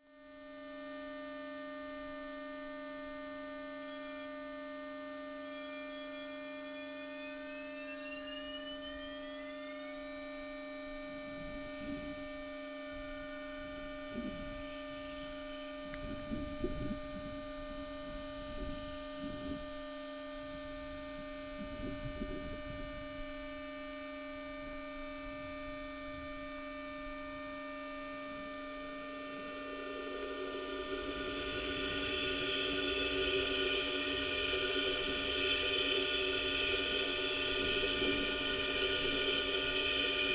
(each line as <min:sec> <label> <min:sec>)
0:29.3 sound inside a rail before and while train wheels pass over it 0:40.3